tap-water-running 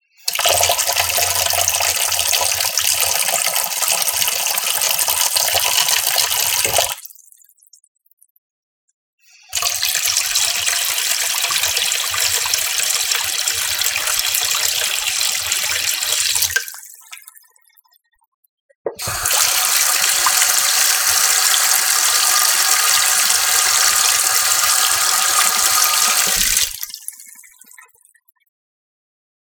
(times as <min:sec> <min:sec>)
0:00.3 0:07.1, 0:09.5 0:17.3, 0:18.9 0:27.9